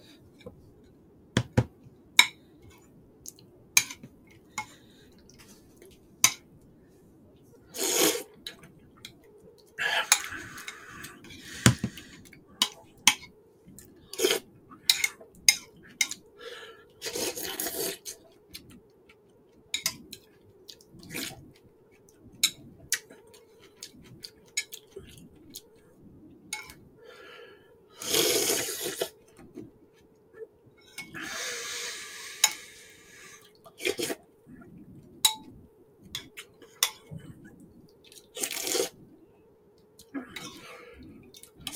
7.7s Eating slurping borscht soup 8.4s
9.8s Eating slurping borscht soup 12.8s
14.0s Eating slurping borscht soup 15.2s
17.0s Eating slurping borscht soup 18.3s
28.0s Eating slurping borscht soup 29.2s
31.1s Eating slurping borscht soup 34.7s
38.1s Eating slurping borscht soup 39.0s

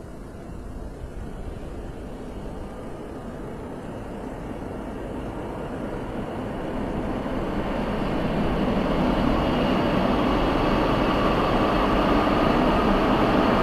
0.0s trains departing from the station 13.6s

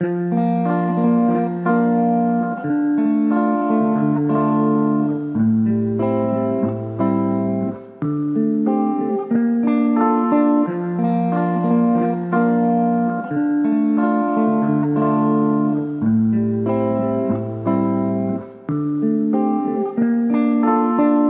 0.0s guitar 21.2s

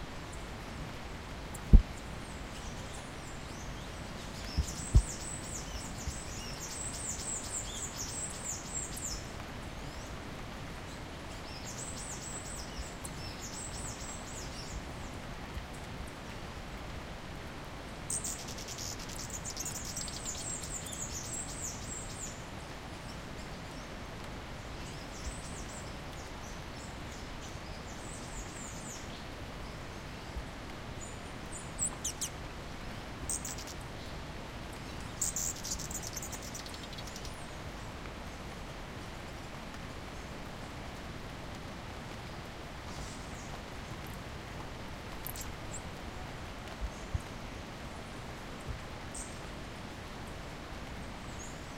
0.0s rain 51.7s
0.0s strong river 51.7s
1.5s hummingbirds feeding and fighting 9.2s
18.0s hummingbirds feeding and fighting 22.3s
31.0s hummingbirds feeding and fighting 33.8s
34.6s hummingbirds feeding and fighting 37.4s
45.1s hummingbirds feeding and fighting 45.8s

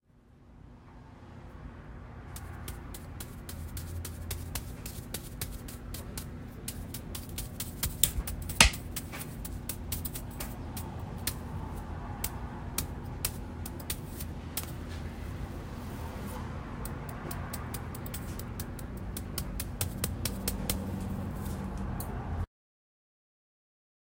2.4s Barber hair brushing 15.1s
15.8s Barber hair brushing 22.2s

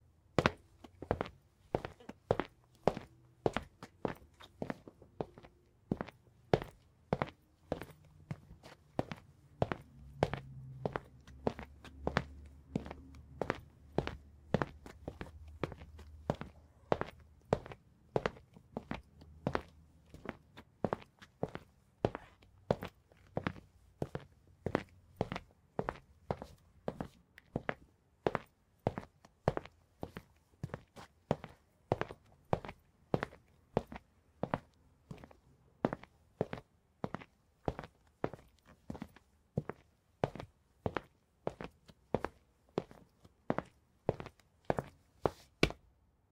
2.5s traffic noise coming from outside the office building 21.2s

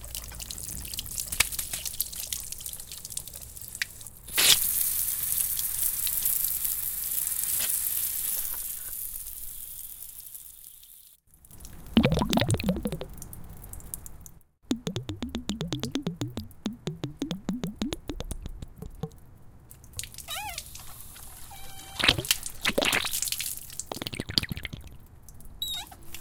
0.0s water gurgling inside wrapped outdoor garden hose 6.7s
11.5s water gurgling inside wrapped outdoor garden hose 13.8s
11.6s drip 19.2s
14.7s water gurgling inside wrapped outdoor garden hose 19.1s
20.0s water gurgling inside wrapped outdoor garden hose 25.1s
21.5s squeal 22.0s
25.6s squeal 26.0s

